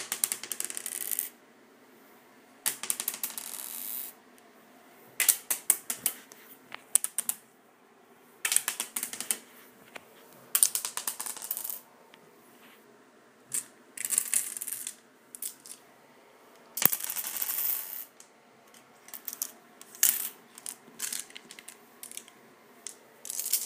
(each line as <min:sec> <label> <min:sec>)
0:00.0 various dice rolling on a tile surface 0:01.4
0:02.6 various dice rolling on a tile surface 0:04.2
0:05.2 various dice rolling on a tile surface 0:07.5
0:08.4 various dice rolling on a tile surface 0:11.9
0:13.5 various dice rolling on a tile surface 0:15.9
0:16.8 various dice rolling on a tile surface 0:23.6